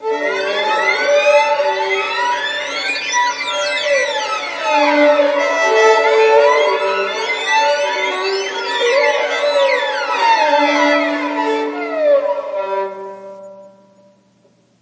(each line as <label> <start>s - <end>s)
Violins playing harmonics 0.0s - 14.2s